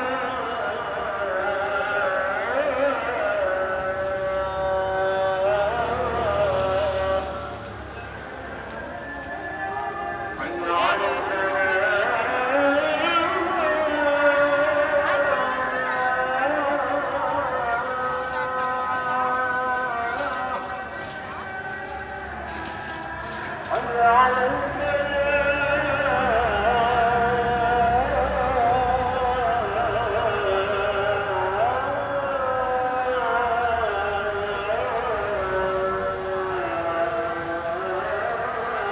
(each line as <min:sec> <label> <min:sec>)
0:00.0 many Adhan calls broke out 0:38.9